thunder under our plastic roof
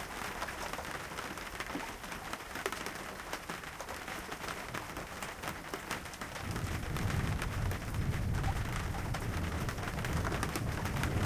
6.1 11.2

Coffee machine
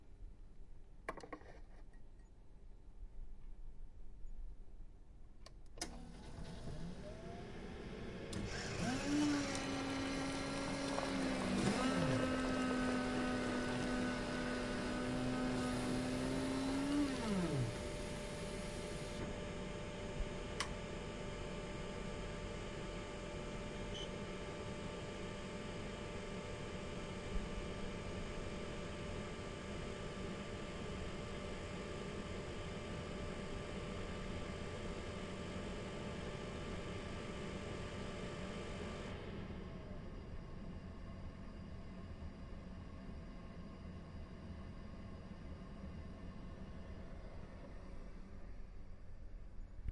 5.8 32.2

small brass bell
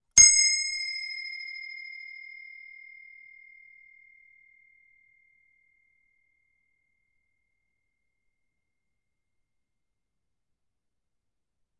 0.1 8.0

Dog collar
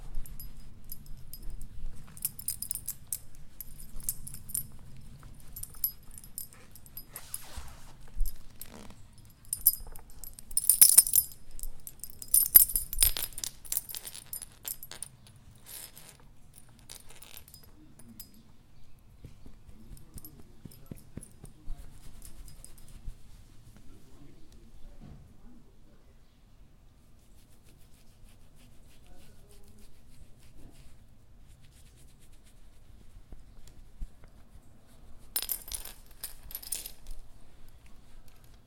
0.0 18.9, 19.5 23.2, 35.4 37.3

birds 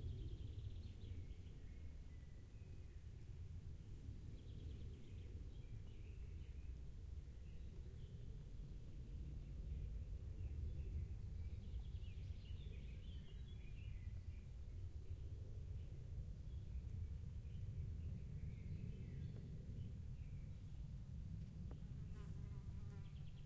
4.0 20.9, 21.7 23.4

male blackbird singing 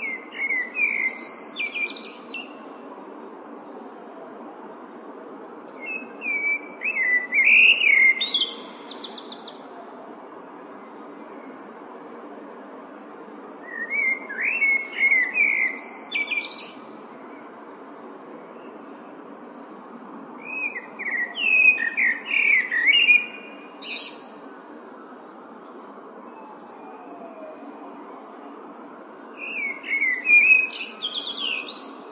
0.0 2.8, 5.8 9.6, 13.6 17.0, 20.4 24.2, 28.8 32.1

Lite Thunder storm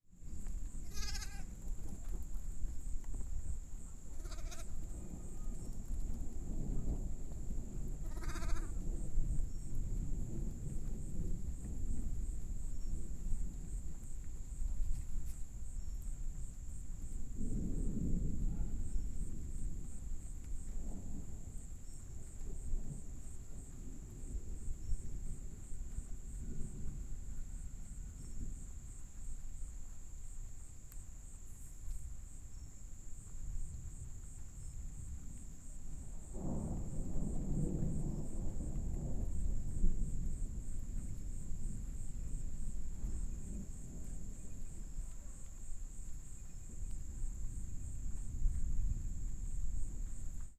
4.2 14.0, 16.2 28.8, 34.7 50.5

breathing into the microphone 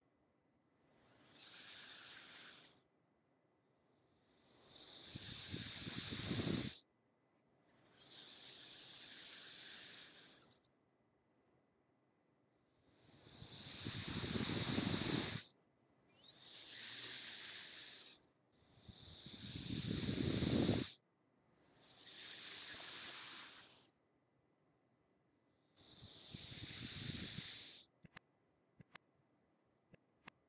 4.6 6.8, 13.0 15.5, 16.4 21.0, 25.8 27.9

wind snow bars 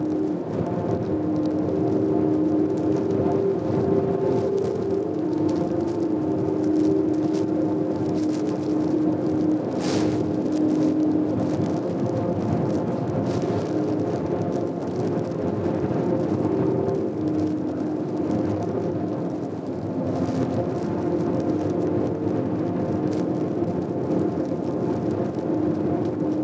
8.1 14.4

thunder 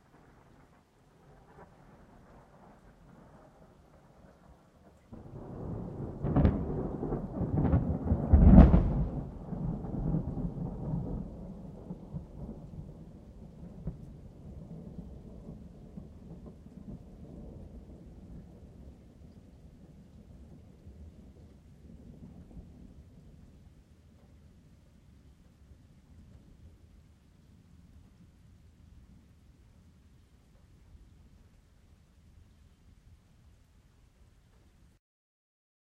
0.0 23.5

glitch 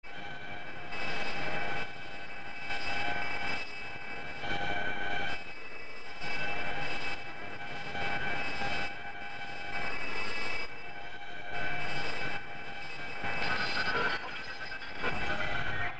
13.3 15.9

